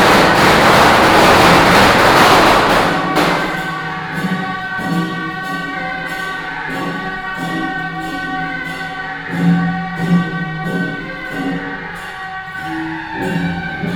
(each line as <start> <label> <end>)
0.0 Firecrackers 5.5